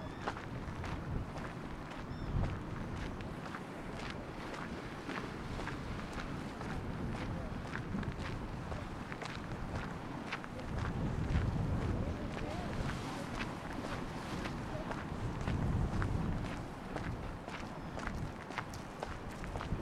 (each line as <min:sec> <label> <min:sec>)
0:00.0 walking on pier 0:19.8